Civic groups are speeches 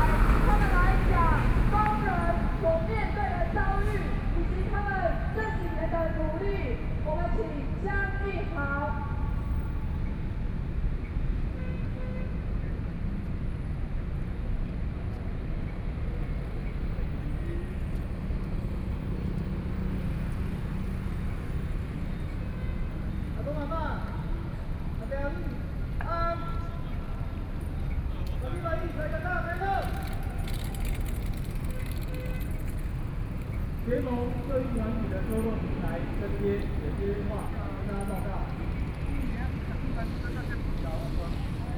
0:00.0 0:09.9, 0:22.0 0:41.7

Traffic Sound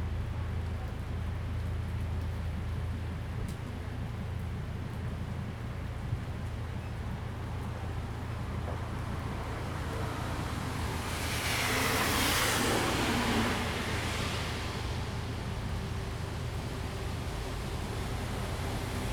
0:07.6 0:19.1

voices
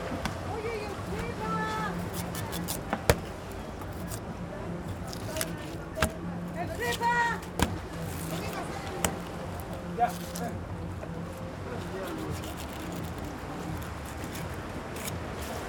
0:00.3 0:12.5

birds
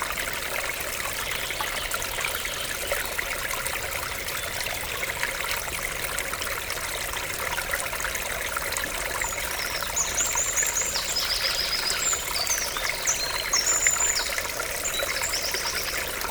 0:09.2 0:16.3

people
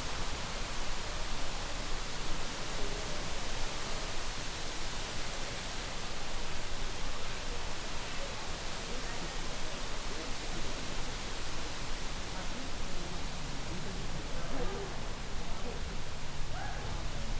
0:07.1 0:17.3

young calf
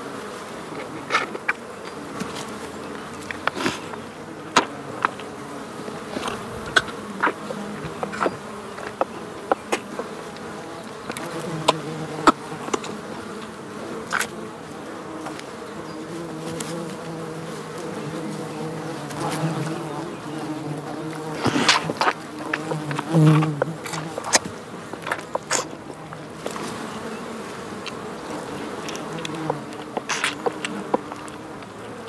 0:06.1 0:13.5, 0:21.0 0:32.0

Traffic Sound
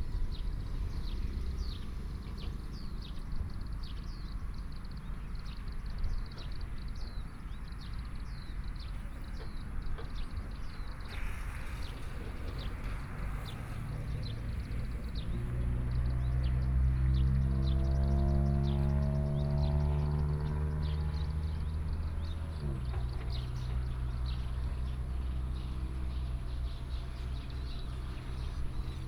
0:08.6 0:29.0

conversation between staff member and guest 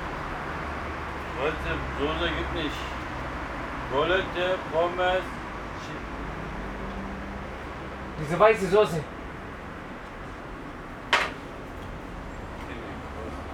0:01.3 0:10.5

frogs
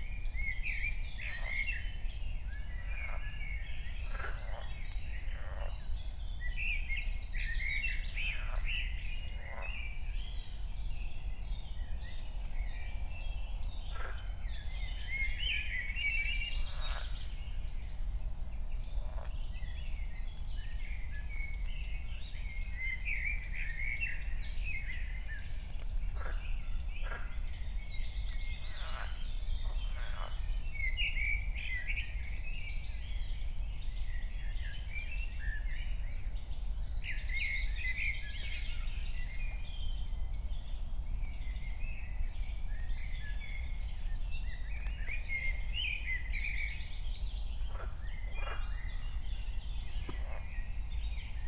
0:00.4 0:10.3, 0:12.4 0:20.1, 0:22.1 0:32.2, 0:44.6 0:49.4

